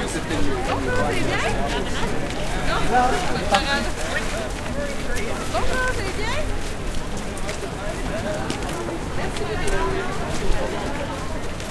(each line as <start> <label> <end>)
0.0 crowd ext footsteps boots wet gritty sidewalk 11.7